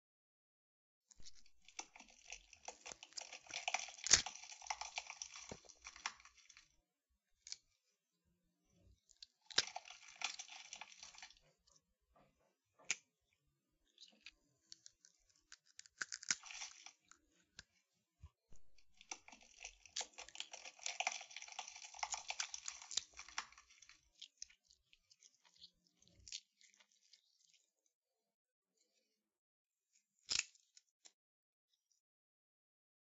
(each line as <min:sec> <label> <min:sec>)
0:01.2 Gory wet ripping, pulling apart 0:06.7
0:09.2 Gory wet ripping, pulling apart 0:11.4
0:14.8 Gory wet ripping, pulling apart 0:17.2
0:18.8 Gory wet ripping, pulling apart 0:24.6